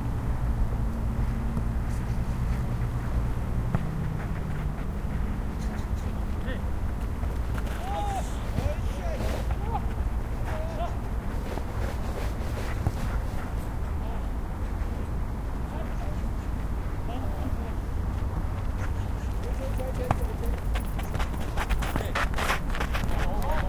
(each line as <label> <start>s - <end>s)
Football match amateur 0.0s - 23.6s
Traffic 0.0s - 23.6s
steps 1.2s - 15.0s
voice 7.7s - 9.9s
voice 10.5s - 11.0s
voice 14.0s - 14.3s
voice 17.0s - 17.9s
steps 18.1s - 23.6s
voice 19.4s - 20.6s
voice 23.1s - 23.6s